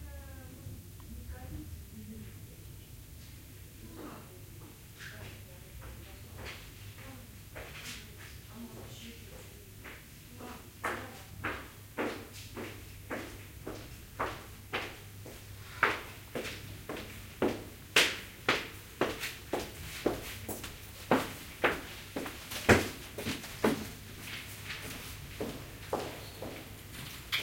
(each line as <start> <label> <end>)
10.9 footsteps 27.4